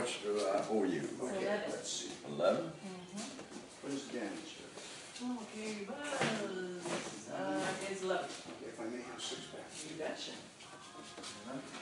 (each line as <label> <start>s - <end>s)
conversations 0.0s - 11.8s